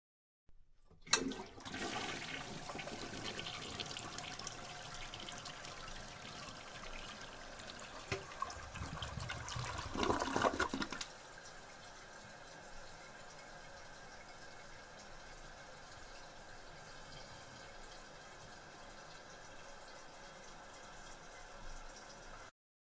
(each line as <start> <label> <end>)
0.9 toilet flush 22.5